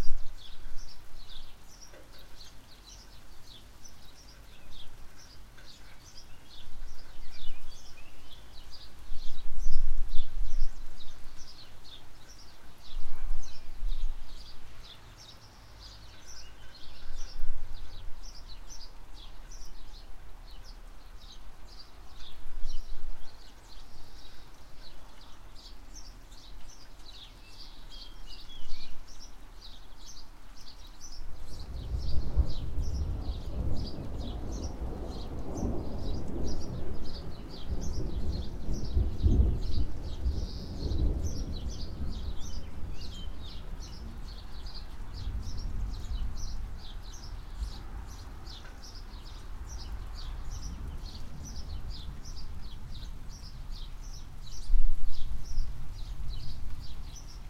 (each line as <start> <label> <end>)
0.0 birds 57.4
0.0 mild rain 57.4
31.5 far away thunder 44.4